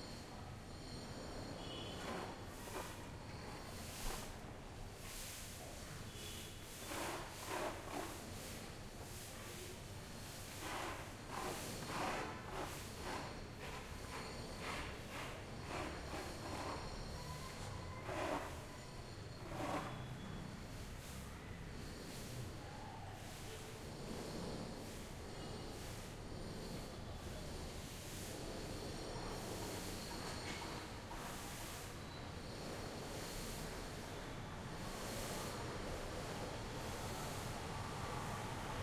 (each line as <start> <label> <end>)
0.0 construction work 5.2
1.0 HVMC Sweeping 38.8
6.1 construction work 21.3